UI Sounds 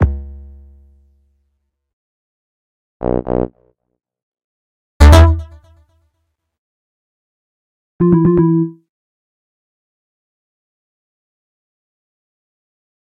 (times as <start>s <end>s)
8.0s 8.8s